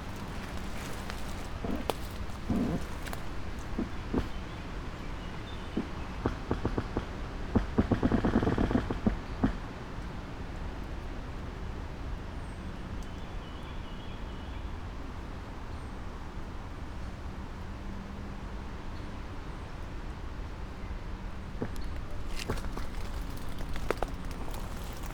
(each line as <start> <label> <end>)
0.0 walk around 4.4
0.0 trees creak 4.5
21.5 trees creak 25.1
21.6 walk around 25.1